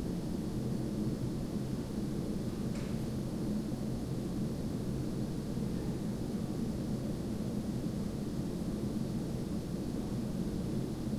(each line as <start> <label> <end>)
0.0 Air conditioner unit 11.1